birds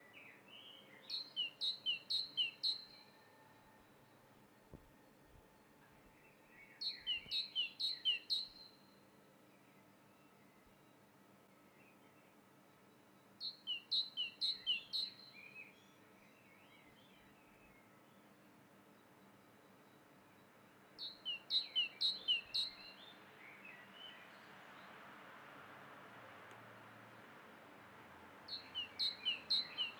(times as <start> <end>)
28.4 29.9